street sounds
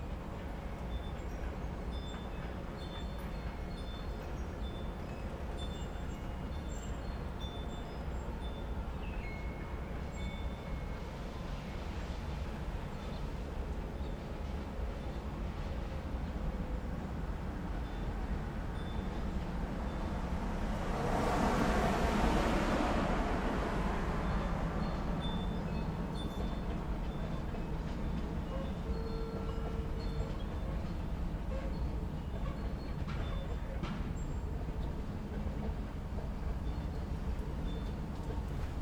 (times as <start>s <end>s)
16.8s 28.9s